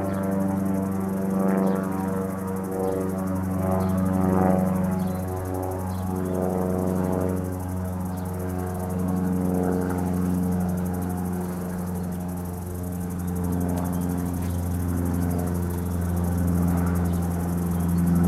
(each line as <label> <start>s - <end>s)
cicadas 0.0s - 18.2s
plane passes and fades out 0.0s - 18.2s